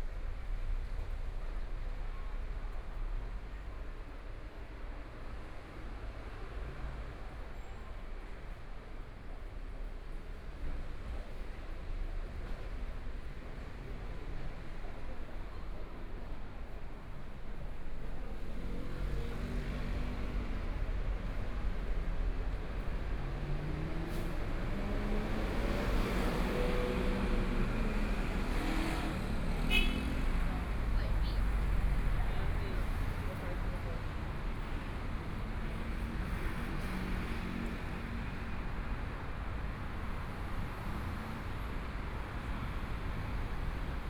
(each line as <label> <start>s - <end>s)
Pedestrians on the road 0.0s - 44.0s
Traffic Sound 9.2s - 44.0s
walking on the Road 14.4s - 36.6s